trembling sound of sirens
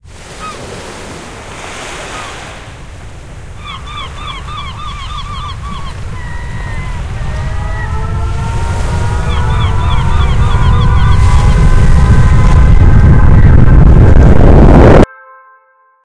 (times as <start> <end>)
6.1 15.0